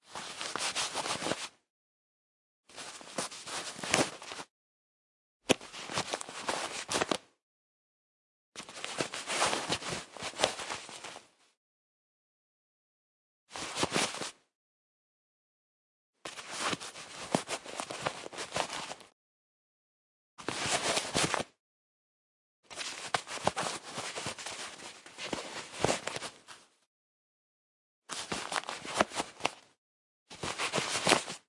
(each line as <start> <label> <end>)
0.0 Wallet pulled out and in the pocket 1.6
2.7 Wallet pulled out and in the pocket 4.5
5.5 Wallet pulled out and in the pocket 7.3
8.6 Wallet pulled out and in the pocket 11.4
13.5 Wallet pulled out and in the pocket 14.4
16.2 Wallet pulled out and in the pocket 19.1
20.4 Wallet pulled out and in the pocket 21.6
22.7 Wallet pulled out and in the pocket 26.7
28.1 Wallet pulled out and in the pocket 31.4